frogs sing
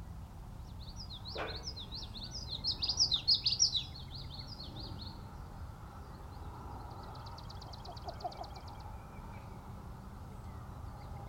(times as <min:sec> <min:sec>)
0:06.8 0:09.4